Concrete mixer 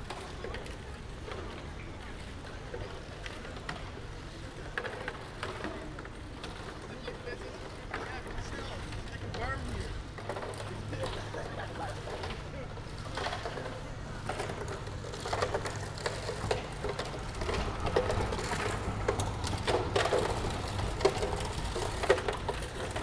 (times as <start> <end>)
4.8 23.0